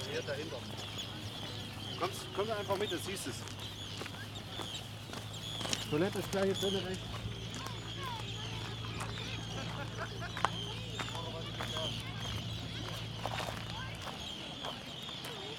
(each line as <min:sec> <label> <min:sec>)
0:00.0 seagulls 0:15.5
0:00.0 tourists 0:15.5